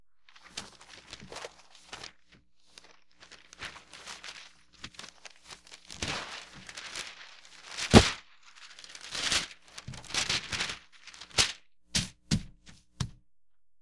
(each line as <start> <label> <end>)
0.3 Large sheets of packing paper being separated 12.8